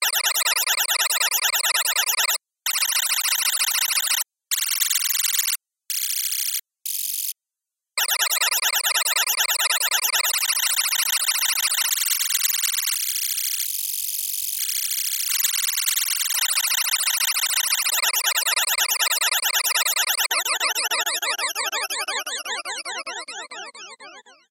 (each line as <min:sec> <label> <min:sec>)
0:20.3 Warbling tones hitting left and right 0:24.4